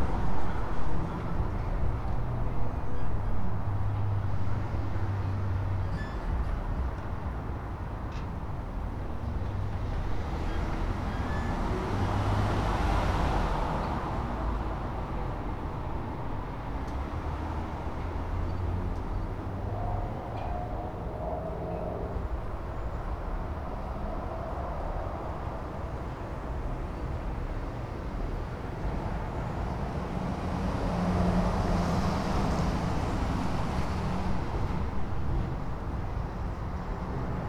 traffic sounds 0.0 - 37.4

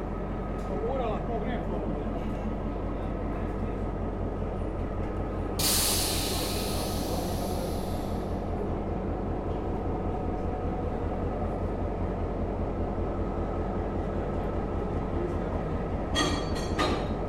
Train arriving but non-abiding 0.0 - 17.2

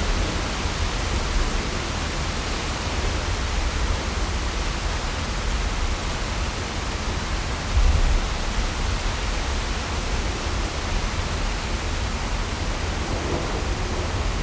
Thunderstorm 0.0 - 4.9
Thunderstorm 7.2 - 14.4

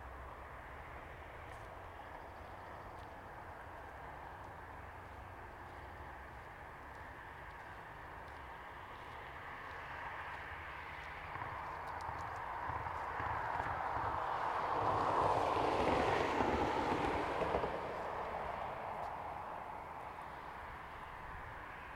Cars driving by 0.0 - 21.9
person walking on a gravel road 0.4 - 21.9

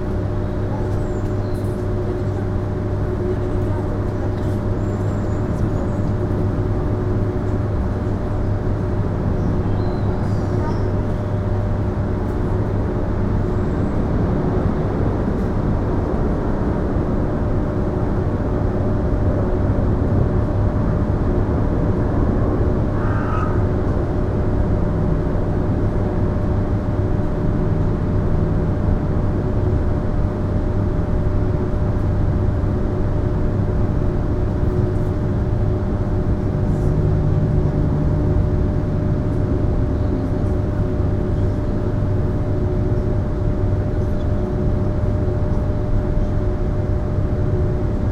huge air conditioning system 0.0 - 48.1

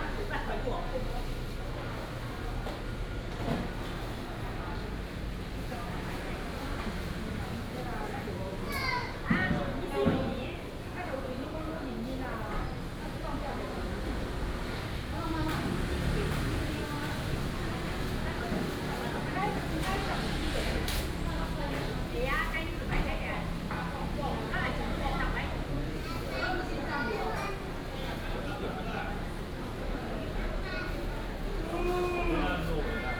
traffic sound 13.6 - 33.1

